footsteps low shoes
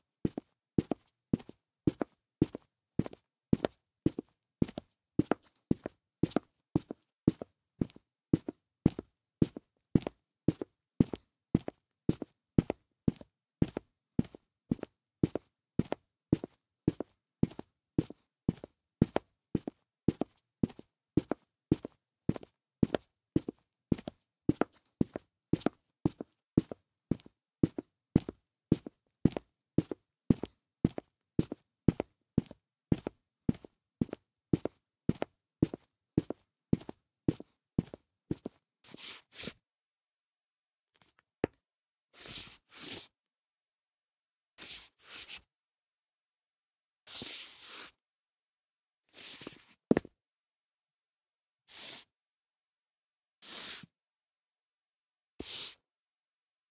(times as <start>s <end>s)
0.2s 38.6s, 49.4s 50.1s